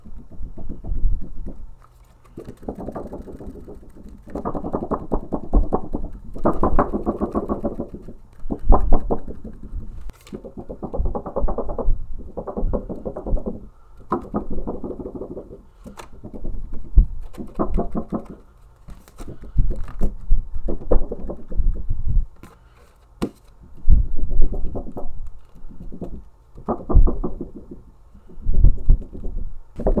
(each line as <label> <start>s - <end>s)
vinyl record wobbling 0.0s - 18.5s
vinyl record wobbling 19.2s - 22.4s
vinyl record wobbling 23.8s - 27.8s
vinyl record wobbling 28.4s - 30.0s